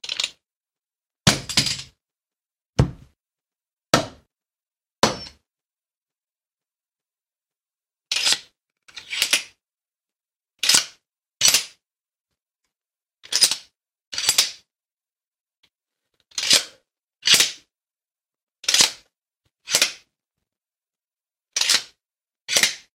Hitting wood with the baton 0:01.3 - 0:01.8
Hitting a pillow with the baton 0:02.8 - 0:03.2
Hitting wood with the baton 0:02.8 - 0:03.2
Hitting a pillow with the baton 0:04.0 - 0:04.3
Hitting wood with the baton 0:04.0 - 0:04.3
Hitting wood with the baton 0:05.0 - 0:05.4
expanding the baton and closing the baton 0:18.6 - 0:19.0
expanding the baton and closing the baton 0:19.7 - 0:20.1
expanding the baton and closing the baton 0:21.6 - 0:22.9

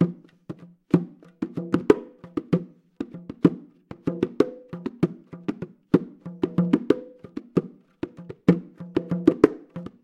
bongo playing 0:00.0 - 0:10.0

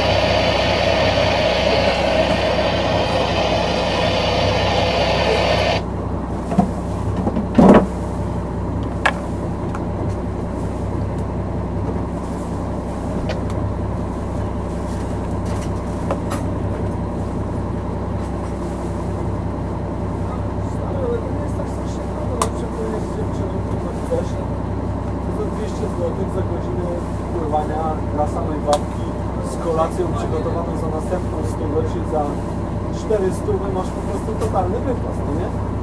radio 0:00.0 - 0:05.8
boat 0:00.0 - 0:35.8
conversations 0:19.8 - 0:35.7

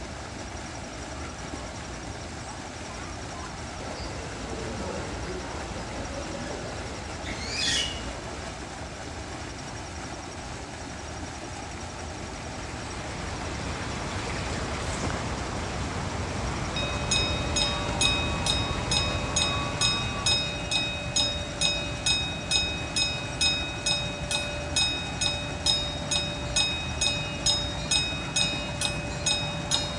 water features 0:00.0 - 0:29.9
zoo train moving through the zoo 0:00.0 - 0:29.9
bugs chirping 0:16.7 - 0:29.9

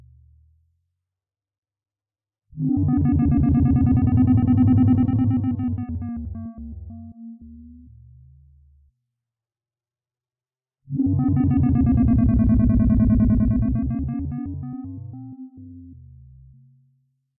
Synthesizer 0:02.6 - 0:08.2
Synthesizer 0:10.9 - 0:16.6

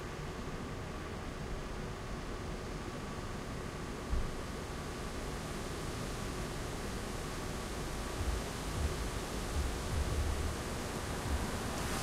music 0:08.0 - 0:12.0

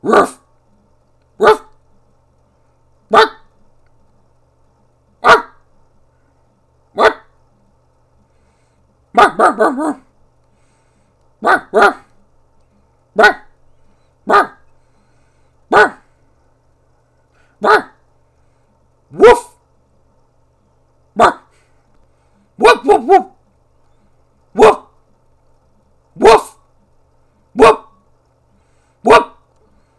dog barking 0:00.0 - 0:00.5
dog barking 0:01.4 - 0:01.8
dog barking 0:03.1 - 0:03.5
dog barking 0:05.2 - 0:05.6
dog barking 0:07.0 - 0:07.3
dog barking 0:09.2 - 0:10.1
dog barking 0:11.4 - 0:12.1
dog barking 0:13.2 - 0:13.6
dog barking 0:14.3 - 0:14.6
dog barking 0:15.7 - 0:16.1
dog barking 0:17.6 - 0:18.0
dog barking 0:19.1 - 0:19.6
dog barking 0:21.2 - 0:21.6
dog barking 0:22.6 - 0:23.4
dog barking 0:24.6 - 0:24.9
dog barking 0:26.2 - 0:26.6
dog barking 0:27.6 - 0:28.0
dog barking 0:29.0 - 0:29.4

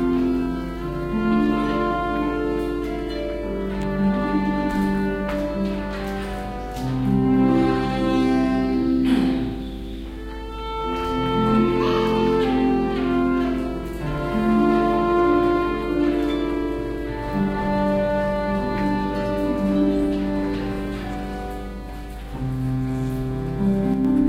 Harp 0:00.0 - 0:24.2
traditional folk galician instrument called Zanfona 0:00.0 - 0:24.2

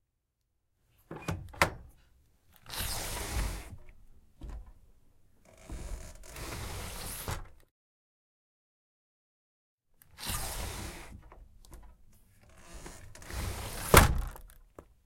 sliding window door open closed 0:02.6 - 0:04.7
sliding window door open closed 0:05.5 - 0:07.7
sliding window door open closed 0:10.1 - 0:14.6

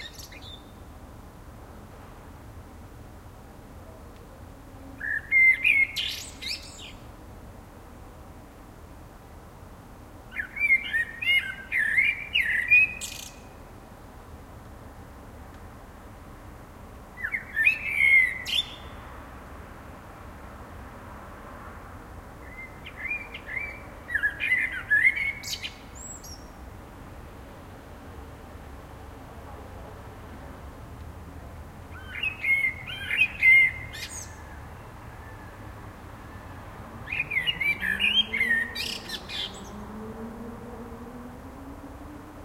blackbird singing 0:00.0 - 0:00.8
cars 0:00.0 - 0:42.4
blackbird singing 0:05.0 - 0:07.0
blackbird singing 0:10.3 - 0:13.6
blackbird singing 0:17.2 - 0:19.0
blackbird singing 0:22.5 - 0:26.5
blackbird singing 0:31.9 - 0:34.8
blackbird singing 0:37.0 - 0:39.9

